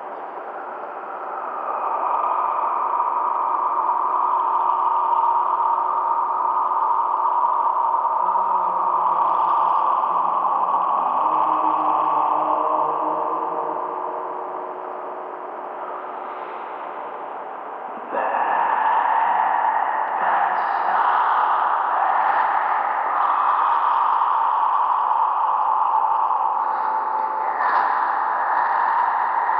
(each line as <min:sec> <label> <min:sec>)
0:00.0 drone 0:29.5
0:08.4 voice layer 0:17.0
0:17.7 voice layer 0:29.5